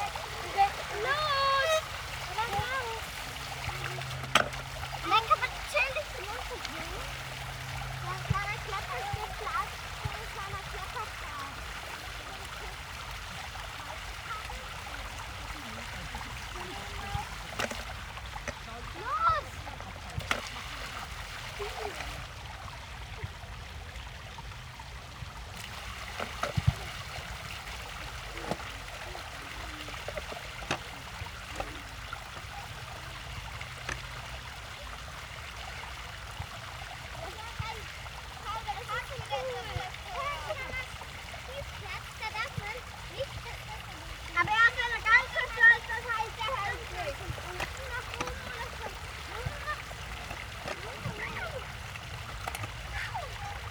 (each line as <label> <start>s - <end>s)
Arguments over what to do 0.0s - 7.0s
Children direct and play with water flows 0.0s - 53.7s
Arguments over what to do 41.5s - 50.0s
Arguments over what to do 50.7s - 51.7s